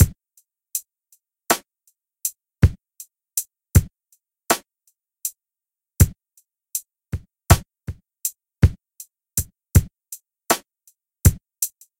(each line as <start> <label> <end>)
7.2 kick hat snare 8.0